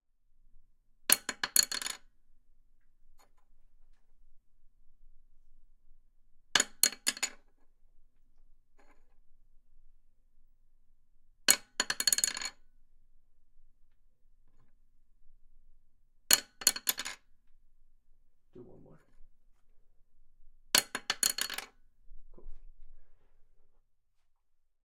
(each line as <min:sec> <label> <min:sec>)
0:11.5 Dropping a pencil onto a wooden desk 0:12.5
0:16.3 Dropping a pencil onto a wooden desk 0:17.2
0:20.8 Dropping a pencil onto a wooden desk 0:21.7